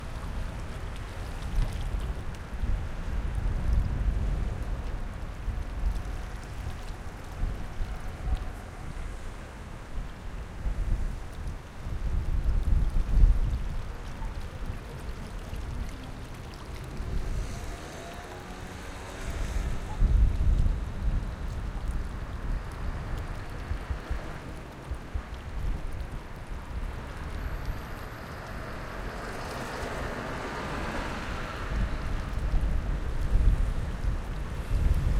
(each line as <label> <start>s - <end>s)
Traffic 0.0s - 35.1s
Water 0.0s - 35.1s
Wind 0.0s - 35.1s